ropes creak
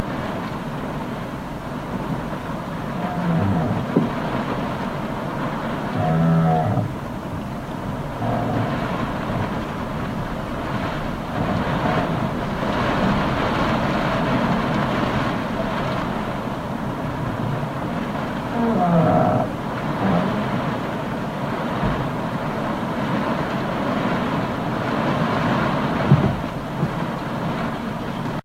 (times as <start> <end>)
8.2 9.5